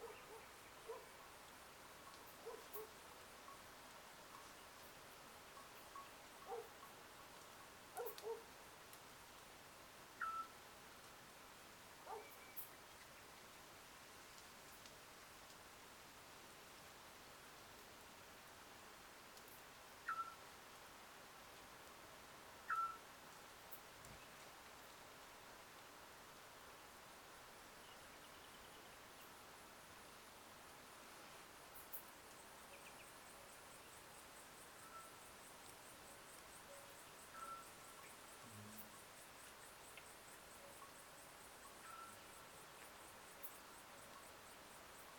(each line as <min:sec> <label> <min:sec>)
0:00.0 dogs 0:01.1
0:02.4 dogs 0:02.9
0:06.4 dogs 0:06.8
0:08.0 dogs 0:08.5
0:12.0 dogs 0:12.4